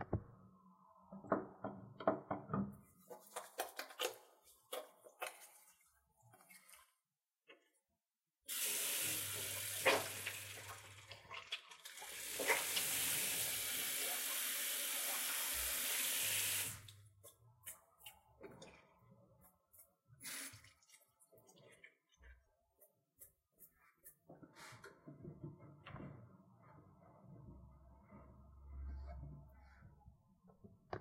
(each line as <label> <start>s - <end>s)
someone washing their hands 8.5s - 25.3s